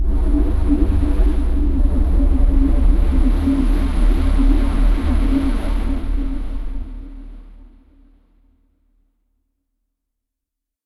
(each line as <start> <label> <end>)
0.0 drone 7.6
0.0 bass 8.1